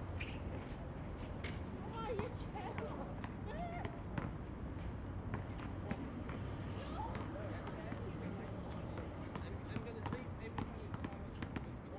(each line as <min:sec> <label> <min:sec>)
0:01.8 children playing basketball 0:04.3
0:06.7 children playing basketball 0:08.2